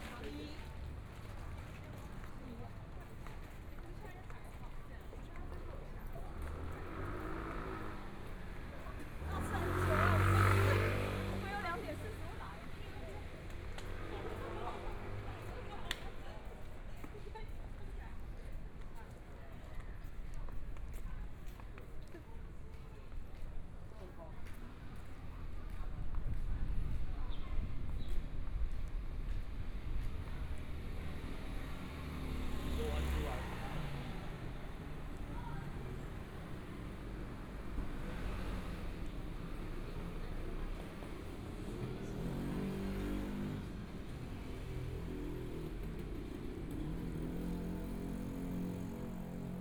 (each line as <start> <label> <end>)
0.0 Traffic Sound 49.6
0.0 Walking across the different streets 49.6
6.4 Motorcycle sound 11.7
30.7 Motorcycle sound 49.6